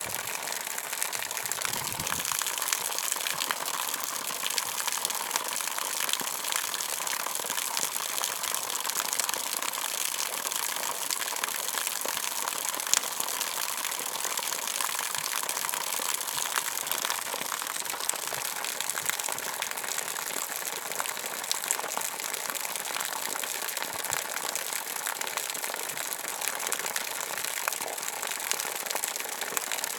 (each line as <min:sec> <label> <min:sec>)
0:00.0 Stream Waterfall 0:29.9